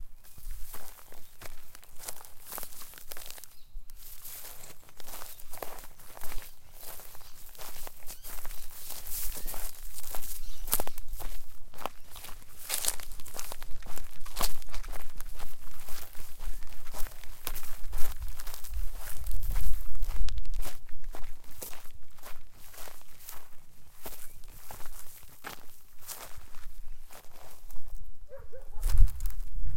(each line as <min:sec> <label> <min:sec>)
0:00.0 wind 0:29.7
0:00.2 birds 0:13.6
0:00.2 footsteps 0:29.7